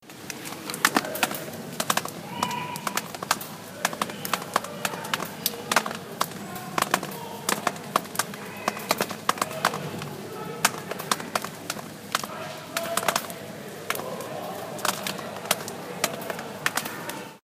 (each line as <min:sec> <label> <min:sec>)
0:00.0 Rain drops 0:17.4
0:00.0 people in the background 0:17.4